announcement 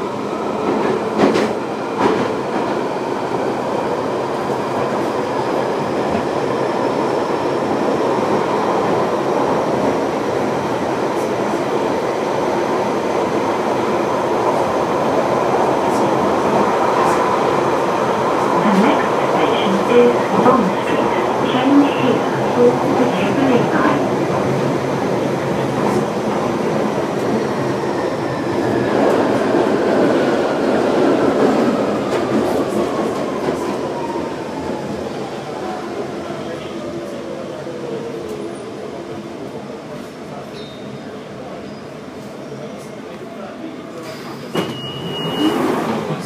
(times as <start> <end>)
18.2 24.6